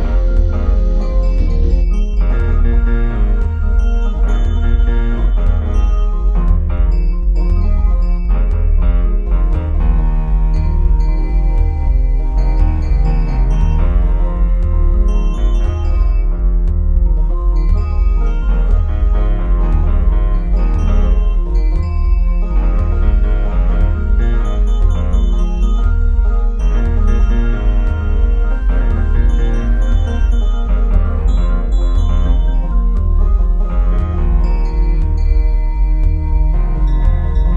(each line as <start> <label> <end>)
0.0 bass 37.5
0.0 guitar 37.5
0.0 synth 37.5